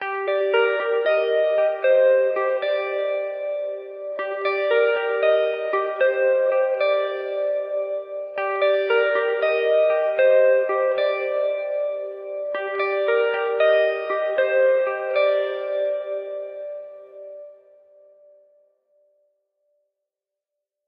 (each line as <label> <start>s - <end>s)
guitar 0.0s - 19.2s